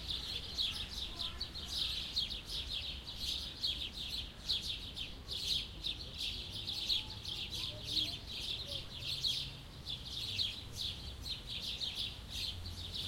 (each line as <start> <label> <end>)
0.0 people 9.4
0.0 Birds 13.0